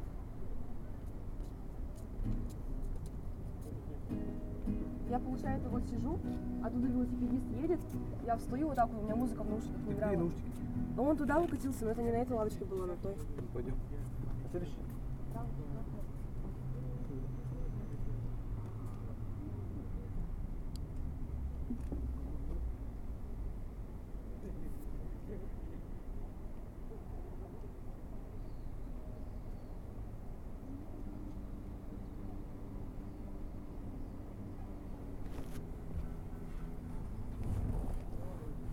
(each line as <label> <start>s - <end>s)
Talks by other visitors of the park 0.7s - 23.3s
playing the guitar 2.2s - 3.2s
playing the guitar 4.0s - 11.7s
Talks by other visitors of the park 24.1s - 29.2s
Talks by other visitors of the park 30.6s - 38.7s